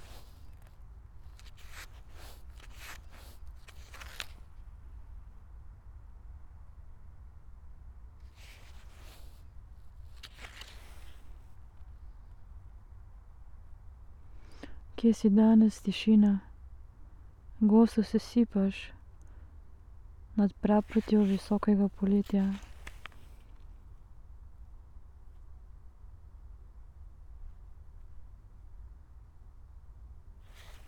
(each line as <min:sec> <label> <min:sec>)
0:00.0 reading performance 0:04.6
0:08.3 reading performance 0:11.6
0:20.4 reading performance 0:23.7